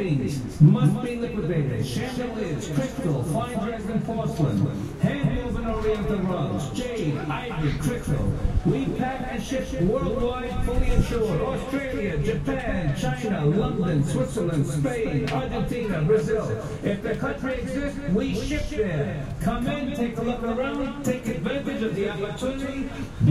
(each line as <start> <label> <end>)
0.0 public address system 23.3